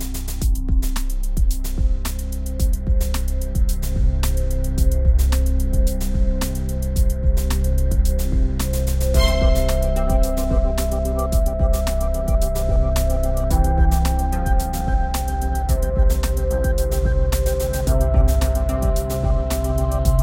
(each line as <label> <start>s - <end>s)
electronic track 0.0s - 20.2s